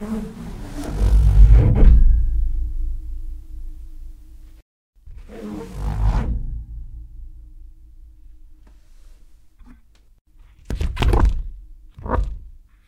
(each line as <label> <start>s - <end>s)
balloon pulling over radiator 0.0s - 1.8s